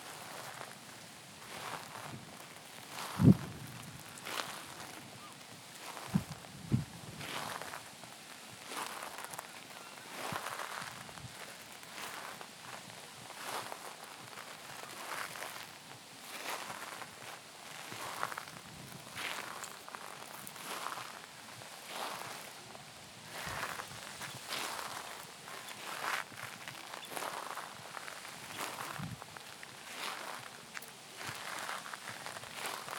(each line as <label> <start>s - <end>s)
walking meditation 0.0s - 32.9s